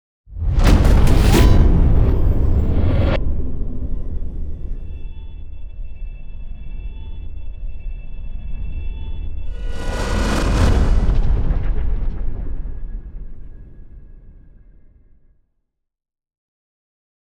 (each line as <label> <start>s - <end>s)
boom 0.3s - 5.6s
riser 9.4s - 13.5s
whoosh 9.4s - 14.6s
boom 9.5s - 15.0s